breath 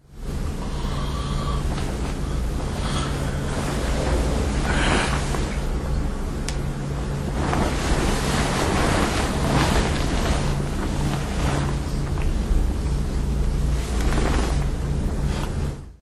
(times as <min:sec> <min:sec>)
0:00.6 0:03.5